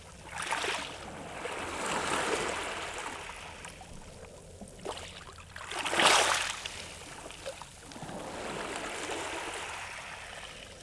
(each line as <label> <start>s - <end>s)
waves lapping on the pebbles 4.8s - 10.8s